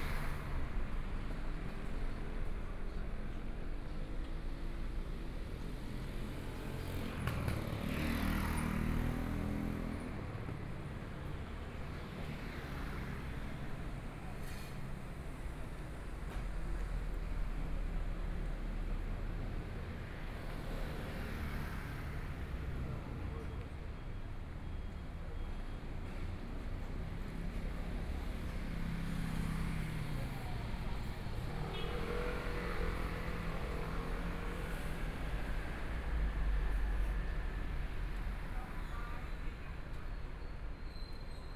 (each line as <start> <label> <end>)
0.0 Walking on the street 41.4
0.0 Traffic Sound 41.5
22.2 Various shops voices 41.5